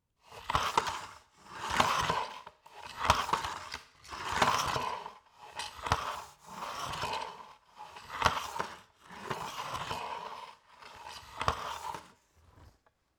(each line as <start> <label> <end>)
0.3 Vacuum cleaner 12.6